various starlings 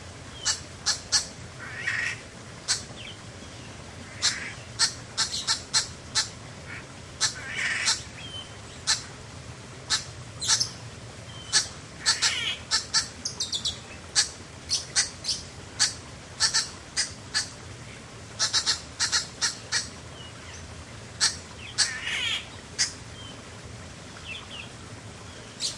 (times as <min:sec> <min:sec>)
0:21.2 0:23.0